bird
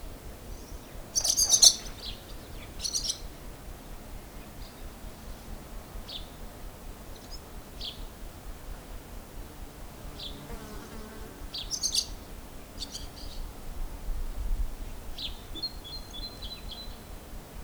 0.5s 3.5s, 10.1s 13.5s

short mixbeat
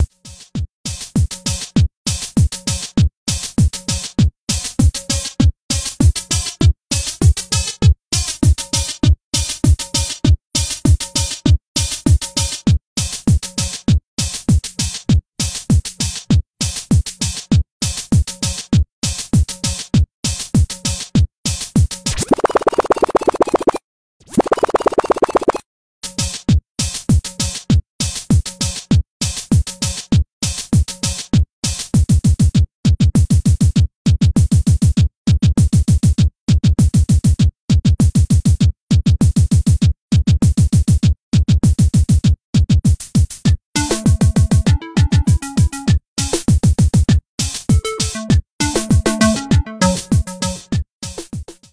22.1s 25.6s, 43.8s 45.8s, 47.7s 50.7s

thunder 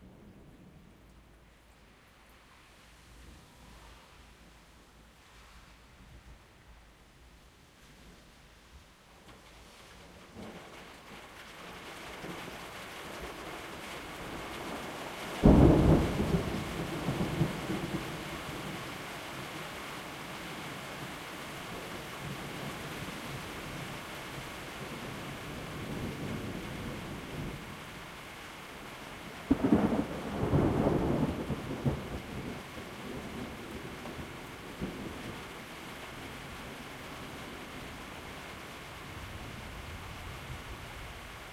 15.4s 18.9s, 29.5s 35.4s

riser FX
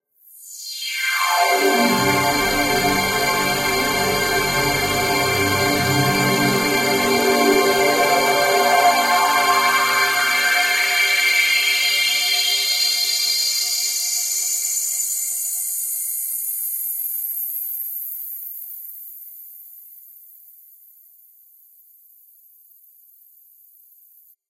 0.8s 10.6s

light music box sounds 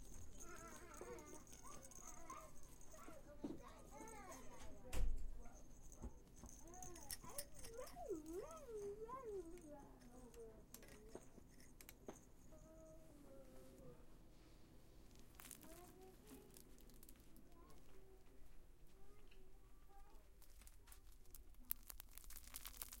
0.0s 14.0s

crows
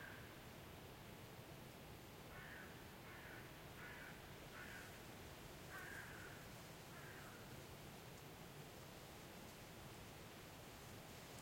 2.3s 5.0s, 5.7s 7.4s

